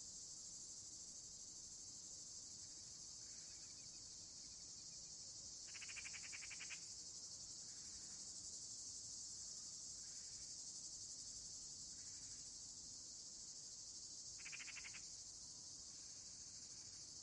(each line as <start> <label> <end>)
0.0 Cicades 17.2
0.0 Crickets 17.2
5.7 Eagle Owl 6.8
14.4 Eagle Owl 15.0